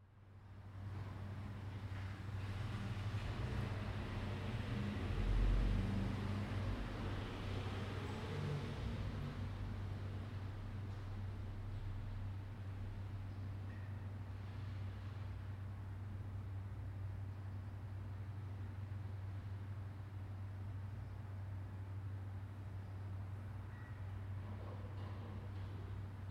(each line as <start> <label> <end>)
0.9 cars 13.0